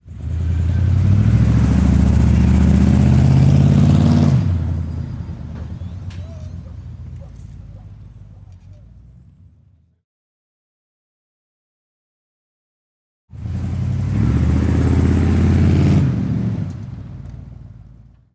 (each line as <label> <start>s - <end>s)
auto performance car ext big rev acceleration deceleration 0.0s - 5.0s
auto performance car ext big rev acceleration deceleration 13.3s - 17.0s